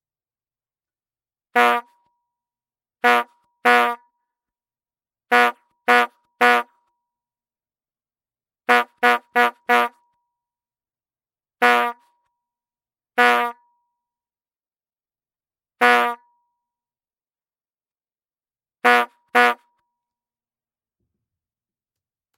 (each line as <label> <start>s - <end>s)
Brass Bulb Horn 1.5s - 2.0s
Brass Bulb Horn 3.0s - 4.2s
Brass Bulb Horn 5.3s - 6.9s
Brass Bulb Horn 8.6s - 10.1s
Brass Bulb Horn 11.6s - 12.2s
Brass Bulb Horn 13.2s - 13.6s
Brass Bulb Horn 15.8s - 16.3s
Brass Bulb Horn 18.8s - 19.8s